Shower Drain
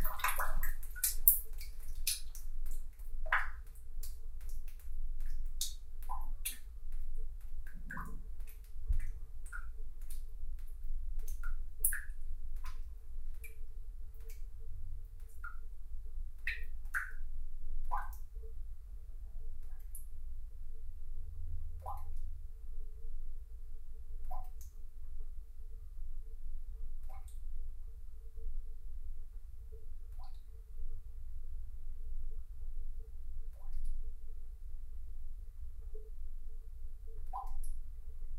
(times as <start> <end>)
0.0 3.6